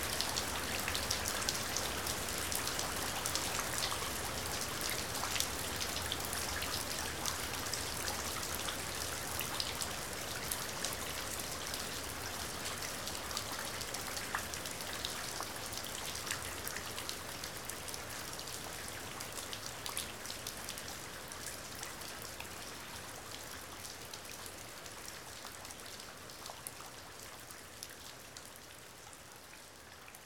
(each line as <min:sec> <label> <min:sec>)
0:00.0 rain splashing into puddles 0:30.2